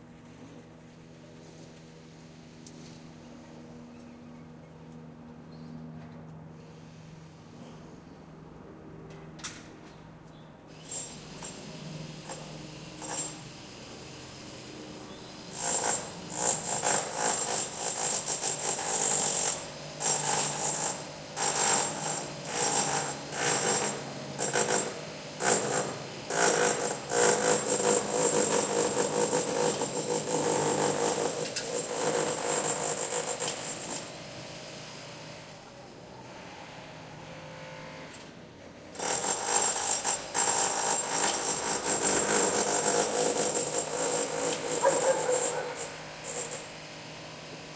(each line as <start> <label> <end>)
0.0 Workers in the facade of a building 47.7